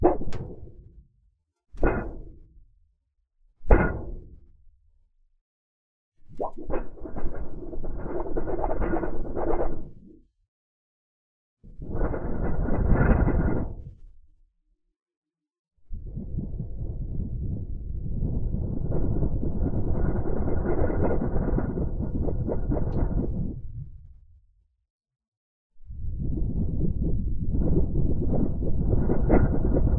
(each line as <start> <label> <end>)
0.0 plastic board being wobbled back and forth 1.0
1.8 plastic board being wobbled back and forth 2.4
3.7 plastic board being wobbled back and forth 4.4
6.3 plastic board being wobbled back and forth 10.1
20.1 plastic board being wobbled back and forth 23.9
28.5 plastic board being wobbled back and forth 29.9